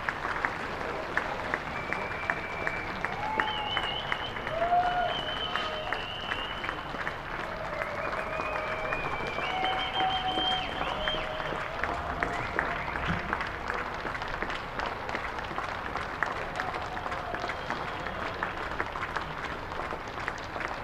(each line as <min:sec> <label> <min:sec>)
0:00.0 Applause 0:20.8